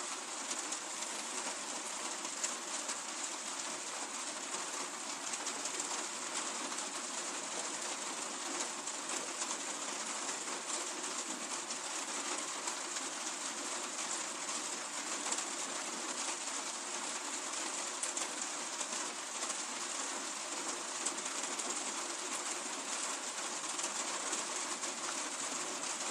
0.0s Raindrops falling on the polycarbonate roofing 26.1s

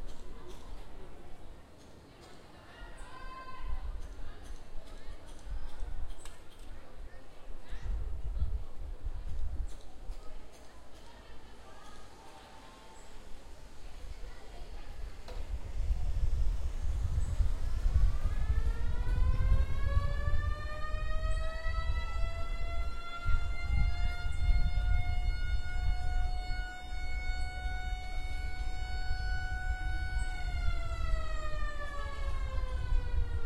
0.0s students 24.4s
9.8s Little traffic 33.4s
15.3s siren 33.4s

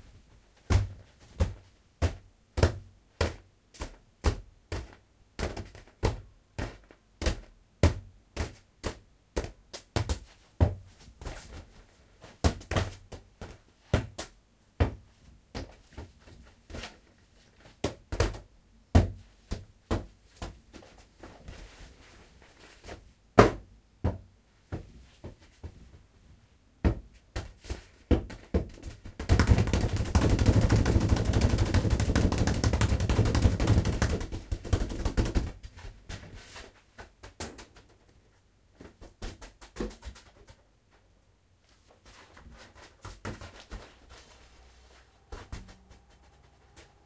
45.3s ball 46.9s

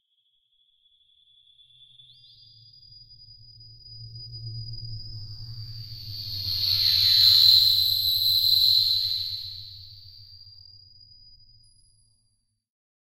4.2s rumble 10.2s

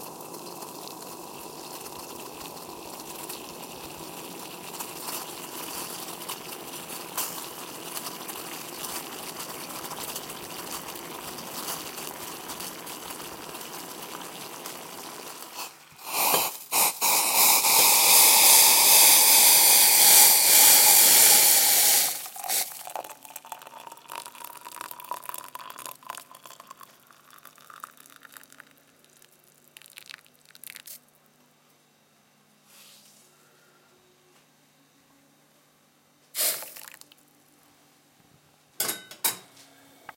0.0s pouring 31.0s
0.0s water boiling 31.0s
36.4s water boiling 37.2s
36.4s pouring 37.2s

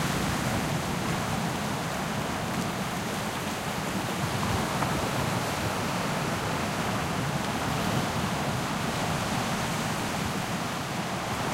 0.0s small waves breaking on a rocky shore 11.5s

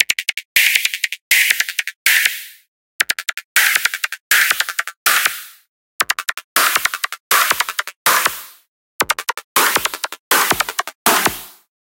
6.0s Drum Synth 11.6s

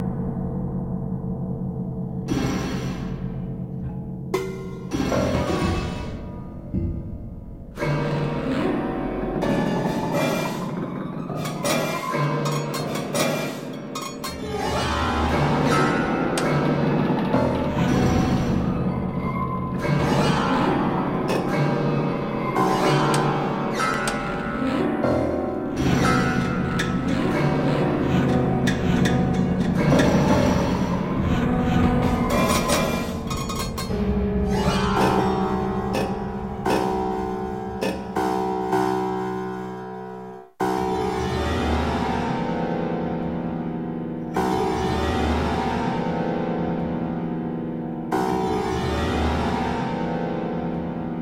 0.0s piano 51.2s

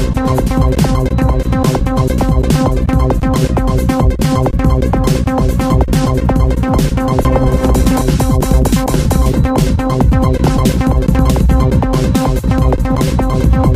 0.3s beat 13.7s

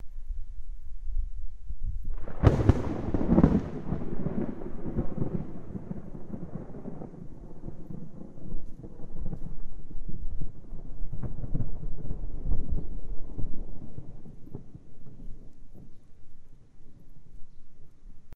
2.1s Thunder 16.0s

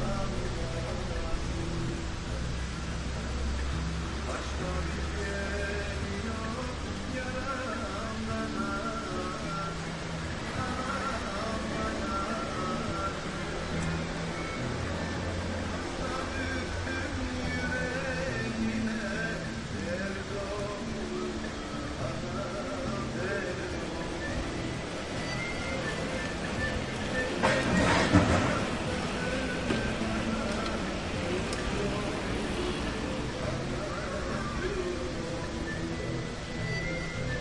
0.0s small fountain 27.7s
0.0s cars and bicyclespassing by 37.4s
0.0s radiomusicfrom barbershop 37.4s

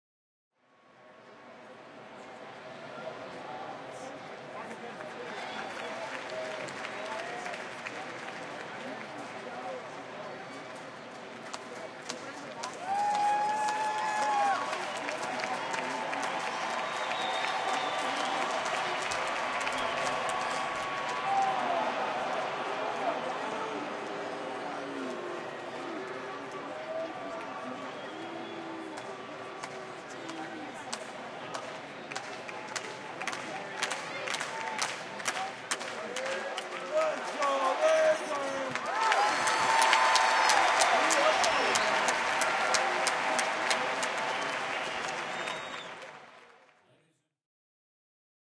12.6s crowd cheers 30.8s
33.8s crowd cheers 46.6s

